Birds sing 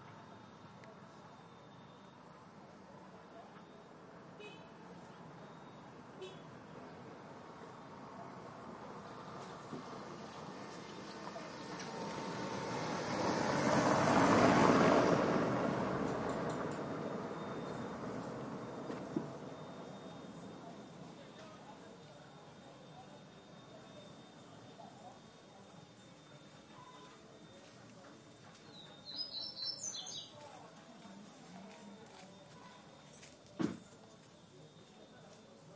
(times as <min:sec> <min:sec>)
0:28.3 0:30.7